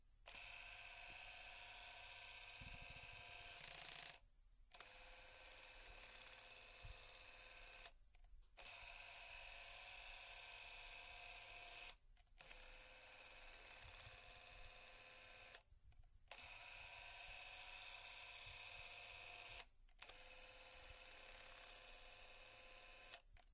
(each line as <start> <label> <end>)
0.3 Super 8 Camera Zoom Motor 8.0
8.6 Super 8 Camera Zoom Motor 15.6
16.3 Super 8 Camera Zoom Motor 23.4